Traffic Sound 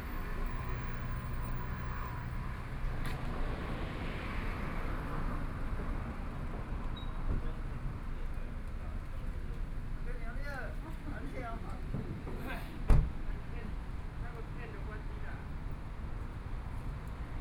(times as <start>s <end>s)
0.0s 10.4s